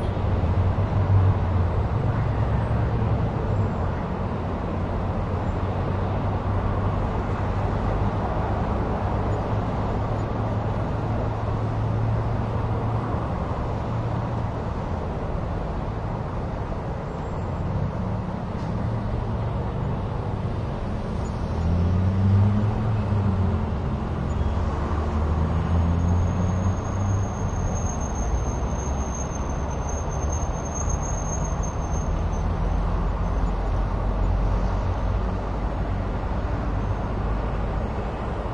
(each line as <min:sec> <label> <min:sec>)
0:00.0 Traffic 0:38.5